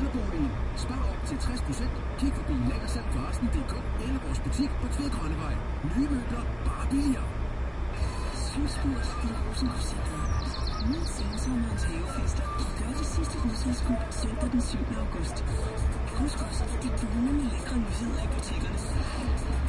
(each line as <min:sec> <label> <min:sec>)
0:00.0 danish radio 0:19.6
0:00.0 drone 0:19.6
0:07.9 conversation in the background 0:19.6